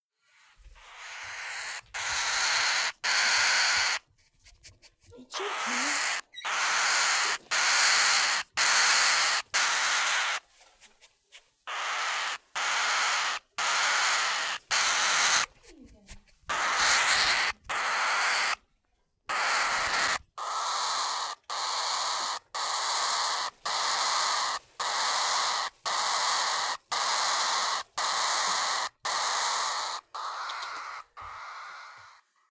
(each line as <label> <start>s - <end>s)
voice of a 3 week old cockatiel going crazy 0.2s - 4.1s
voice of a 3 week old cockatiel going crazy 5.0s - 10.5s
voice of a 3 week old cockatiel going crazy 11.7s - 18.7s
voice of a 3 week old cockatiel going crazy 19.3s - 32.5s